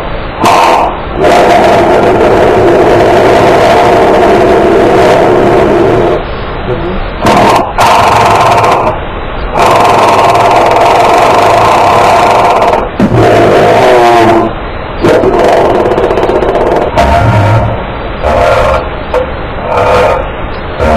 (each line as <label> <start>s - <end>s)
growl 0.4s - 6.2s
growl 7.2s - 9.0s
fart montage 12.6s - 18.9s
growl 19.6s - 20.9s
fart montage 20.8s - 20.9s